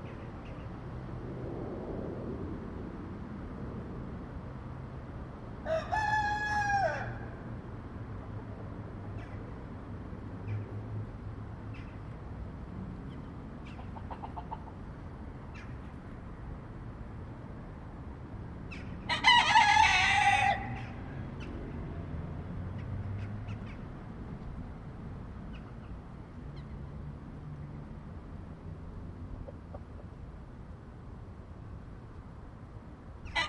Cockerels 0:13.1 - 0:14.8

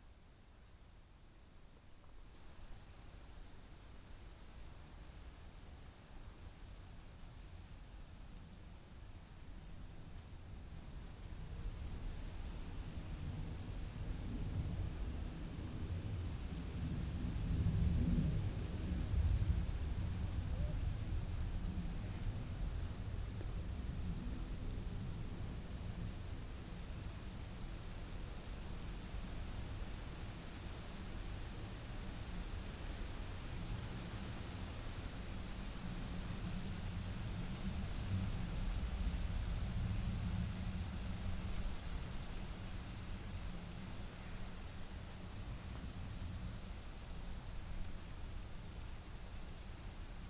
wind in leaves 0:00.1 - 0:50.2
insects 0:02.4 - 0:08.4

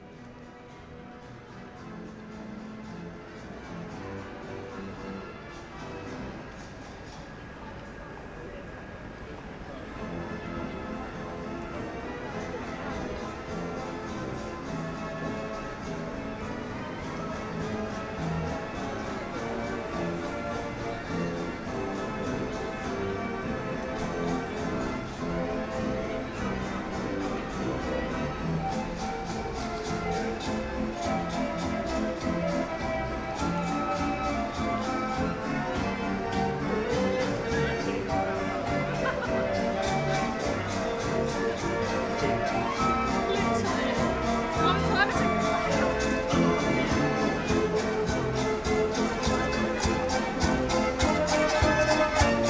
people playing an harmonium machine 0:17.4 - 0:52.4

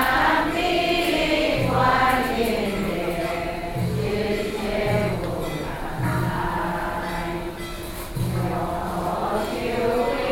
Chant Buddhist scriptures 0:00.0 - 0:10.3

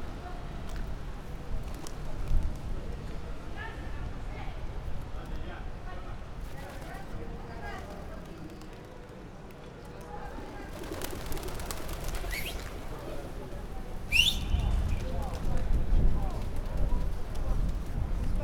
tourists 0:00.0 - 0:18.4
flapping their wings 0:06.4 - 0:13.1

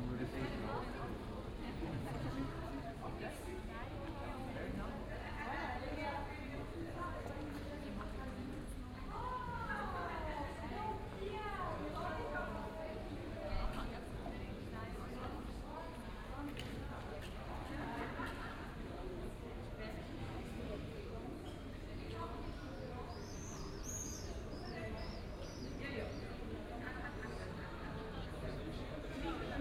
people are chatting 0:00.0 - 0:29.6

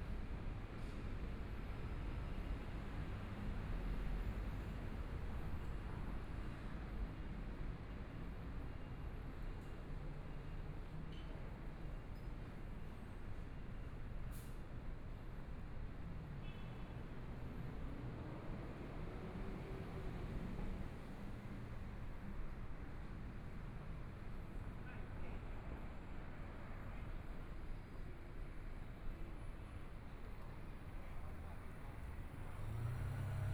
Traffic Sound 0:29.0 - 0:33.5
Motorcycle sound 0:32.0 - 0:33.5

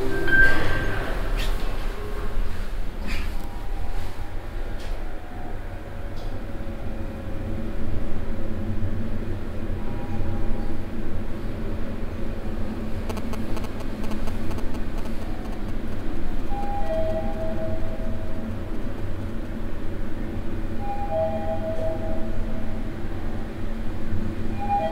elevator in a big business building 0:00.0 - 0:24.9

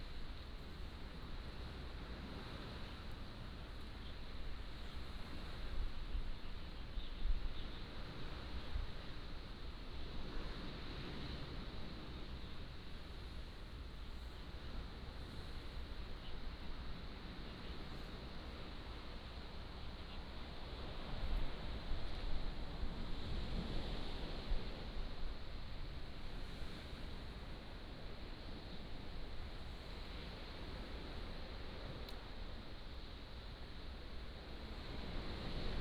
waves 0:00.0 - 0:35.8

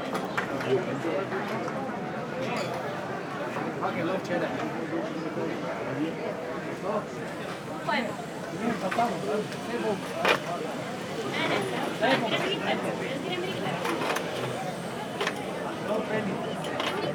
two gentleman discussing 0:06.8 - 0:16.6

